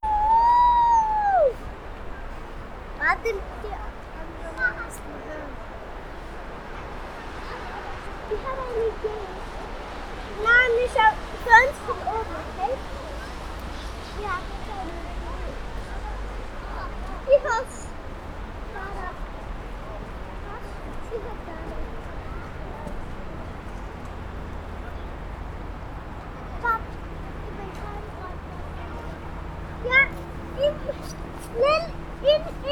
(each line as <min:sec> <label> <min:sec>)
0:03.0 girls talk 0:05.7
0:06.6 girls talk 0:19.5
0:20.3 girls talk 0:23.0
0:26.2 girls talk 0:32.7